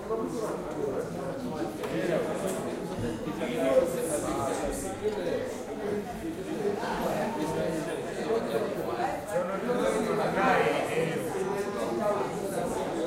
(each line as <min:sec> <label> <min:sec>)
0:00.0 Voices of mostly african males talking and drinking 0:13.0